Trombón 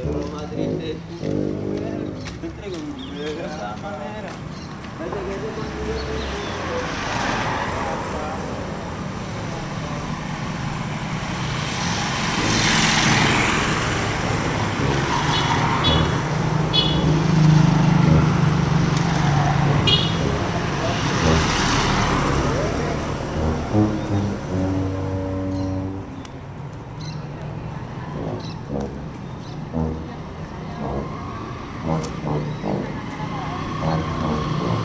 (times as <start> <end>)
0.0 2.2, 12.3 26.2, 27.9 34.8